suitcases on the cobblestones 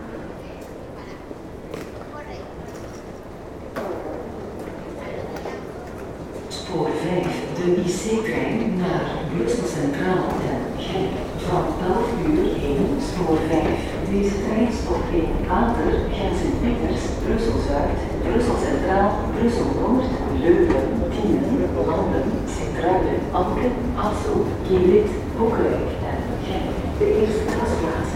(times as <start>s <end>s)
0.0s 8.0s